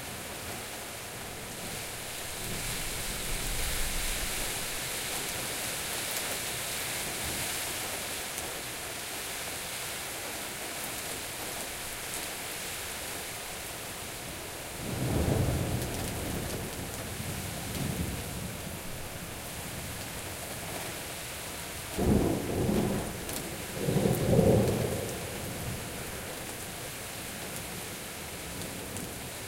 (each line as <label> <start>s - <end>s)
downpour 0.0s - 29.4s